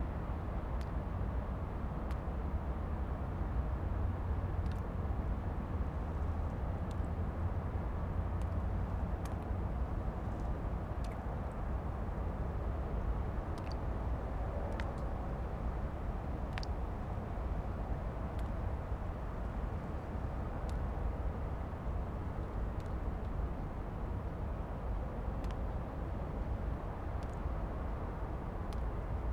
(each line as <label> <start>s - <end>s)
autumnal rain drops 2.0s - 29.3s